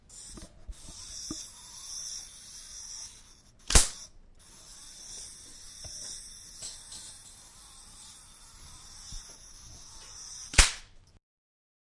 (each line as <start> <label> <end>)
0.0 electric engine of a toy 10.8